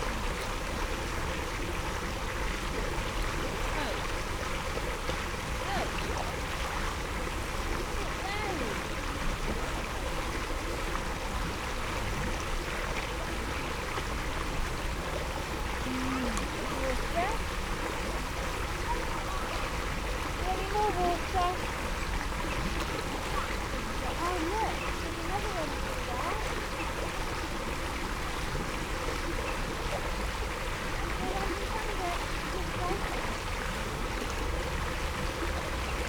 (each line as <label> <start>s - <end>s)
outflows of a large man made pond 0.0s - 36.0s
water welling up from the middle of the pool 0.0s - 36.0s